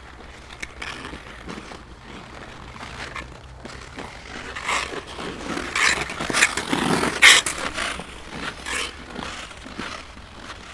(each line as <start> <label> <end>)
0.0 Ice skating from distance 10.7